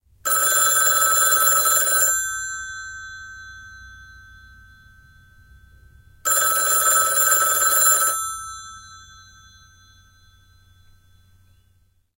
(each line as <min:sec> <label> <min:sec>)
0:00.0 room noise 0:12.1
0:00.3 old style telephone 0:02.6
0:06.2 old style telephone 0:09.3